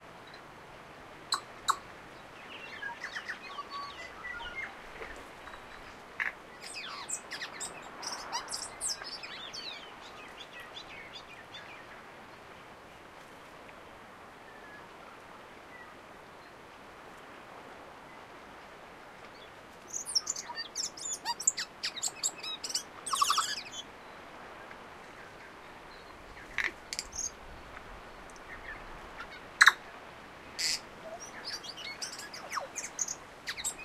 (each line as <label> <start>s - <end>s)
distant Tui birds 0.0s - 13.1s
background waves 0.0s - 33.8s
slight wind 0.0s - 33.8s
Tui bird singing 1.3s - 12.0s
distant Tui birds 19.2s - 33.8s
Tui bird singing 19.3s - 24.3s
Tui bird singing 25.2s - 29.9s
Tui bird singing 30.5s - 33.8s